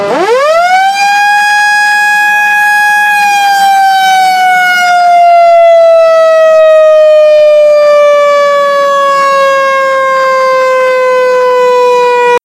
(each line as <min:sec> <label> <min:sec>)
0:00.0 Siren warning to an explosive in the mine 0:12.4